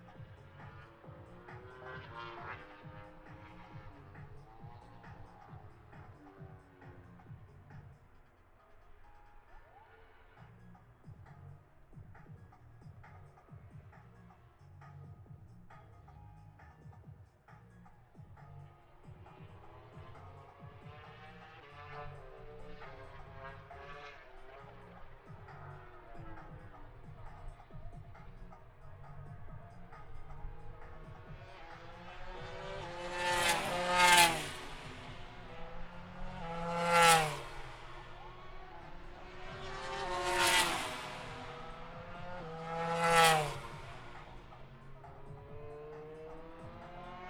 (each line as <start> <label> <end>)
0.0 motorcycle grand prix 47.2